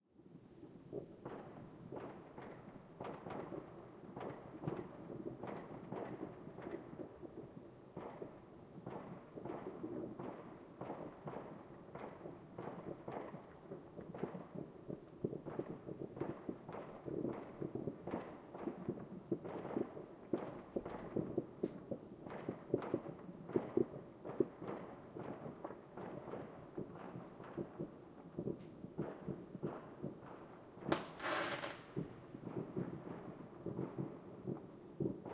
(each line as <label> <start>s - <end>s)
distant fireworks 0.2s - 35.3s
close fireworks going off 0.9s - 35.3s